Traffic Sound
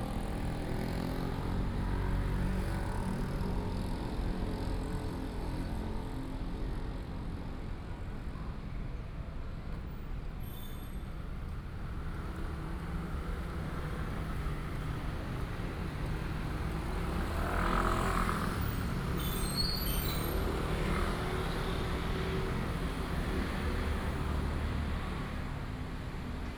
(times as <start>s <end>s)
11.1s 26.5s